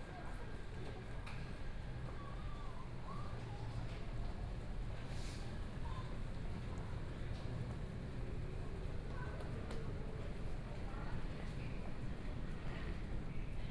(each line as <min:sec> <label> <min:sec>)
0:00.0 walking in the station 0:13.7